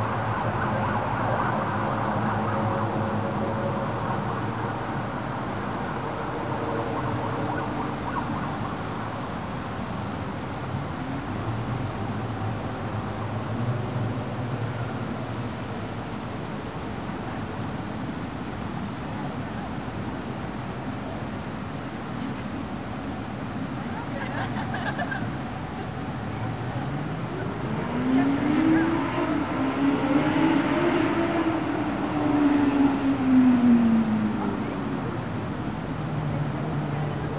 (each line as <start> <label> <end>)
0.0 carpet of crickets on a field 37.3
0.0 not too much traffic 37.3
23.8 conversation and laughs of a juvenile group 28.6